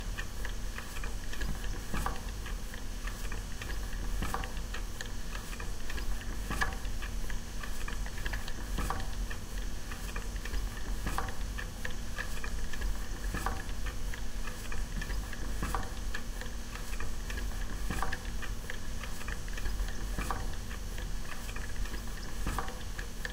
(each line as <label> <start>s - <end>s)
quiet noise of running gas boiler 0.0s - 23.3s